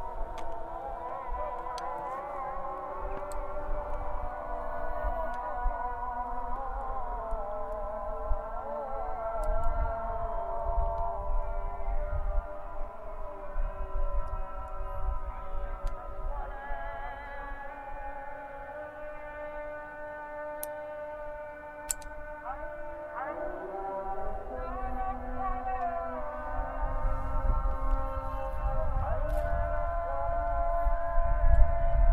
0.0s muezzins calls for prayer 32.1s

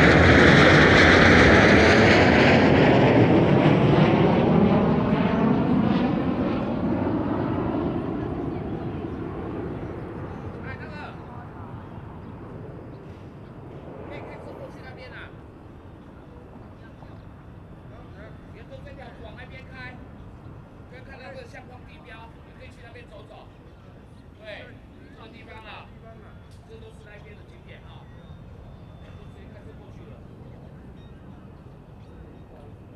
8.2s Birdsong 32.9s

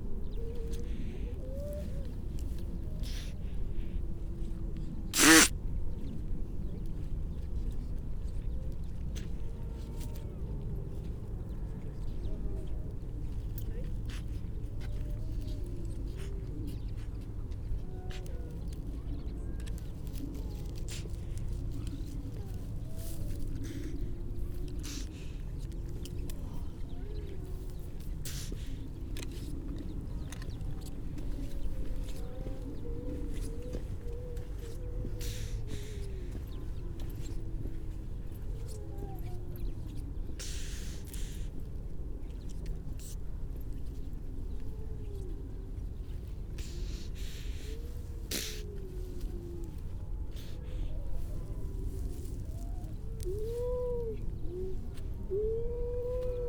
5.2s grey seals 5.5s
5.2s large pup having a snort and a sneeze 5.5s
13.6s grey seals 41.6s
44.4s grey seals 56.4s
48.3s large pup having a snort and a sneeze 48.7s

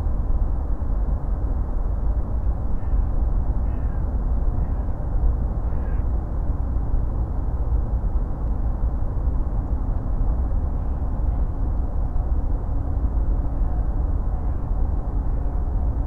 0.0s deep drones from the motorway 16.0s

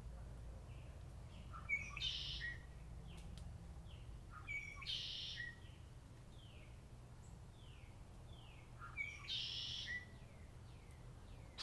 0.7s Red-winged blackbird 3.2s
3.9s Red-winged blackbird 5.8s
7.6s Red-winged blackbird 11.6s

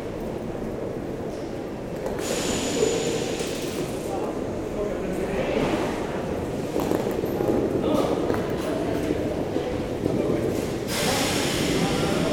0.0s a walk in the tunnel 12.3s
0.0s train leaving 12.3s

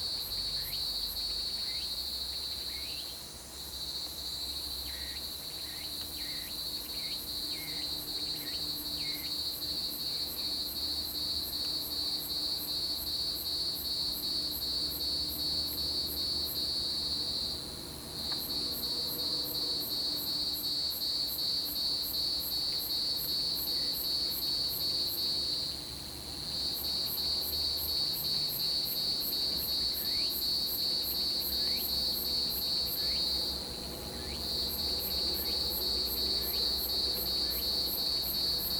18.2s Cicadas cry 38.7s

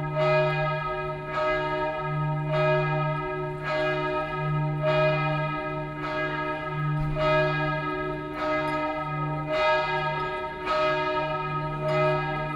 0.0s bells are tolling 12.5s

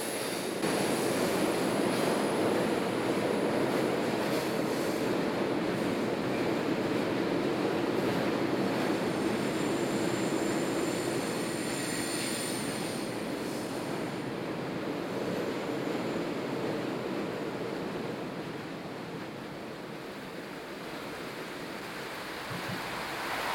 0.0s trains 23.5s

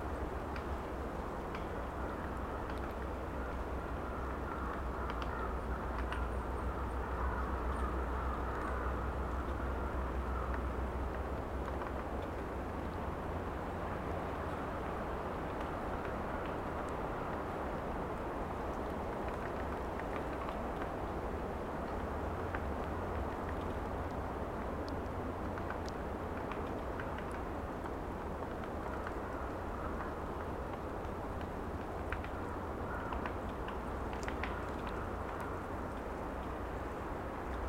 0.0s Wind in trees 37.6s

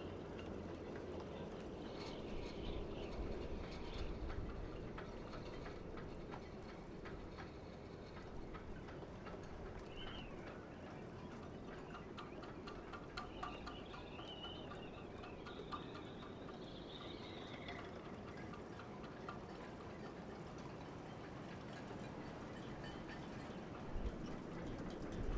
0.0s wind blows through the riggings of the ships 25.3s

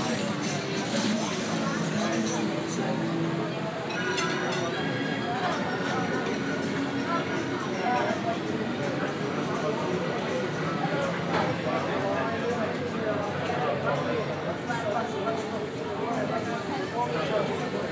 0.0s tourists 17.9s

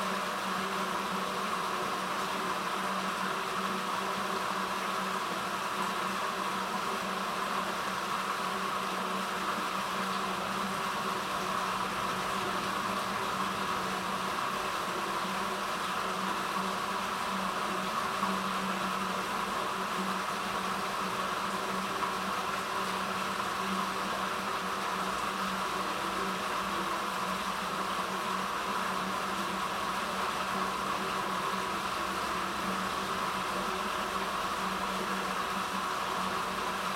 0.0s Small water stream running underground 36.9s

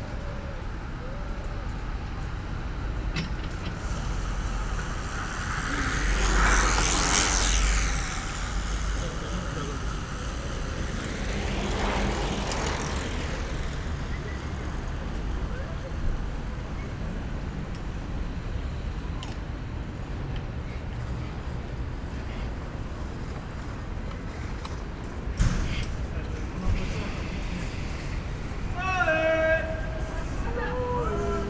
0.0s beaucoup de cyclistes de toute sorte 31.4s

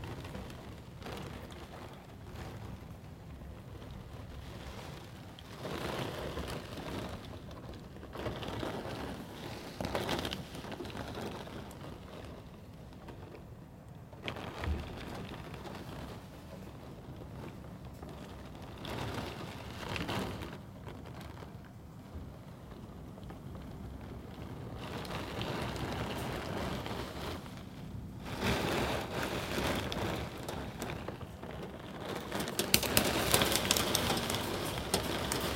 0.0s heavy rain at window 35.5s

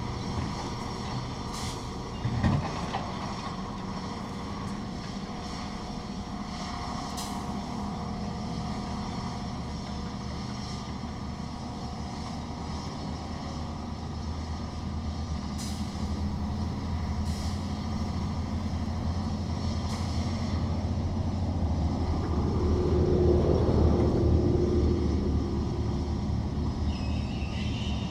0.0s excavator unloads a sand barge 24.4s

